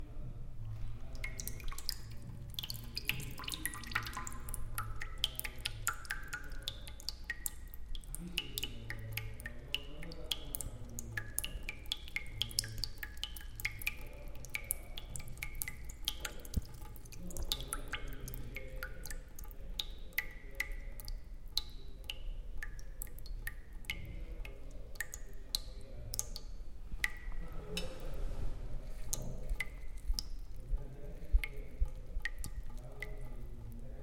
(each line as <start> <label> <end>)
0.6 fast drip of water in a puddle 34.0